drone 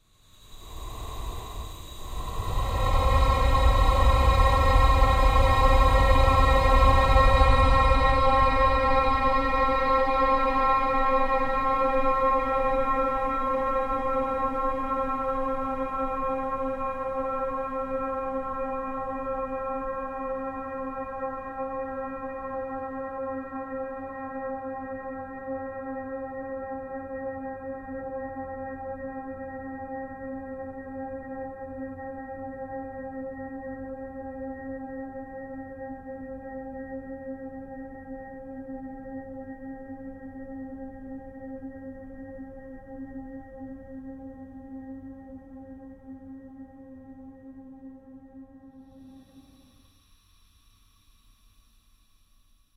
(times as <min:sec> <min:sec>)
0:00.2 0:22.3, 0:48.0 0:51.8